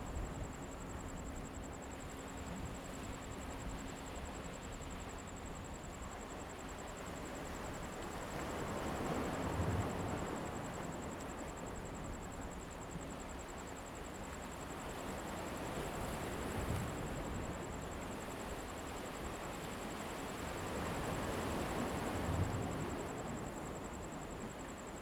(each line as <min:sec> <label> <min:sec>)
0:00.0 waves 0:25.0